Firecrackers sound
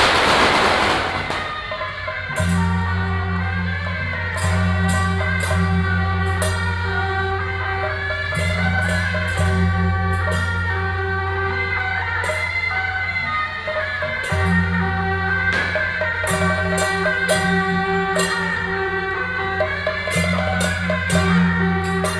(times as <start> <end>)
0.0 3.3, 15.0 21.5